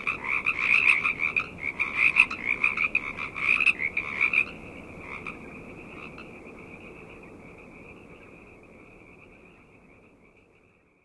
0.0s frogs 11.0s

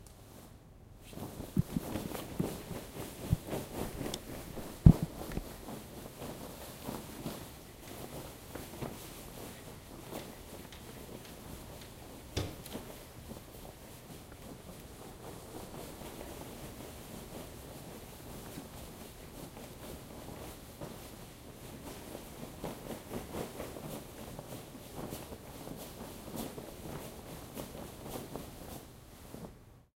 1.1s Running in a silk dress 29.6s

